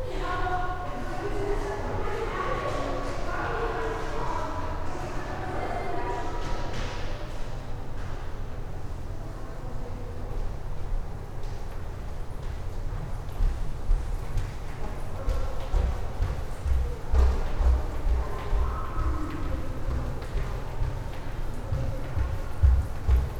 People walking through the underground tunnel 0.0 - 23.3
footsteps 13.3 - 23.3

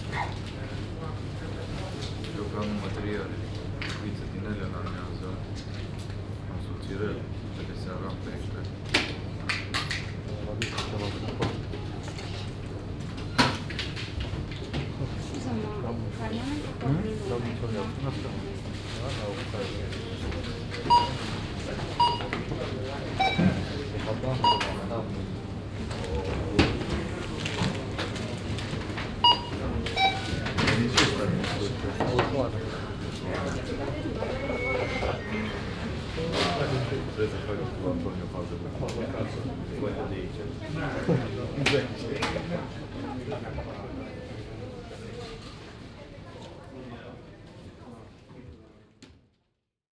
customer conversation 14.9 - 48.0

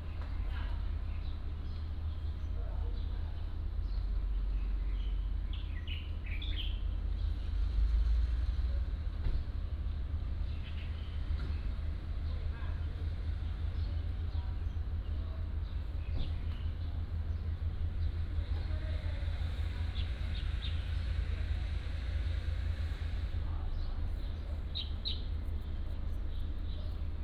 Birds singing 0.5 - 7.4
Birds singing 23.7 - 27.1

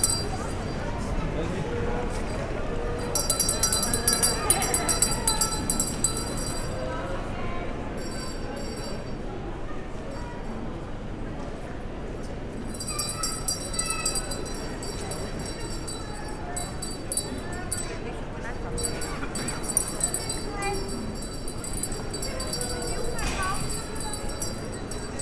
Santa-Claus is giving chocolates 0.0 - 1.2
Santa-Claus is giving chocolates 2.0 - 7.1
Santa-Claus is giving chocolates 12.5 - 25.2

